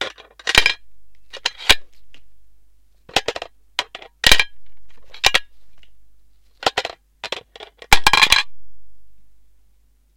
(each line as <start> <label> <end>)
8.0 coin 8.5